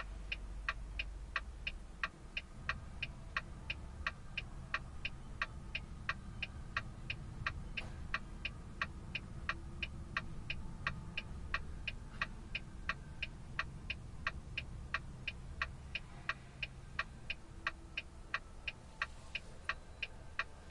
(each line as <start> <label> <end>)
0.0 Truck blinker 20.7